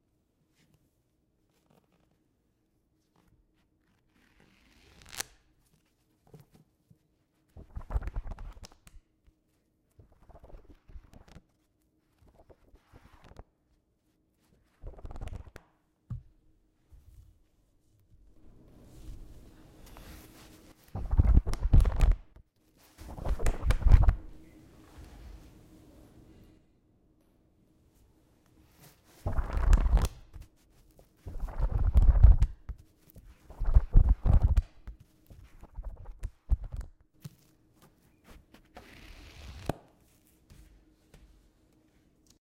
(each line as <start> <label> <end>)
3.1 Flipping Pages 6.6
7.5 Flipping Pages 9.0
10.0 Flipping Pages 13.5
14.4 Flipping Pages 15.8
18.3 Flipping Pages 25.5
28.6 Flipping Pages 40.7